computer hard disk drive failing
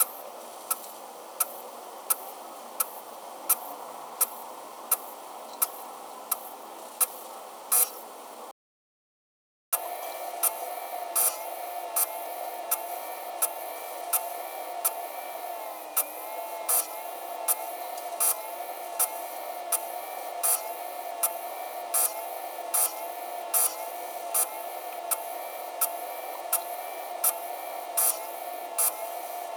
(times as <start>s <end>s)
9.8s 29.5s